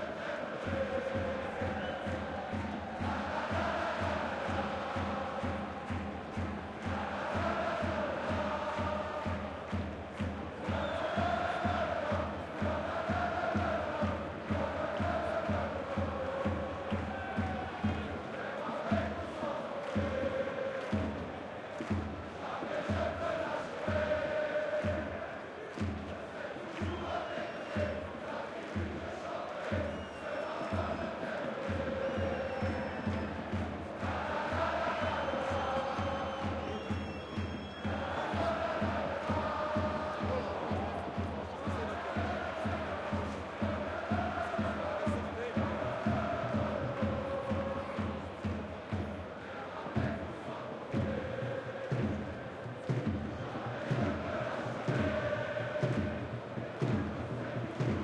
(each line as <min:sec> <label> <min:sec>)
0:00.0 supporters singing 0:58.0
0:21.7 cheers 0:48.2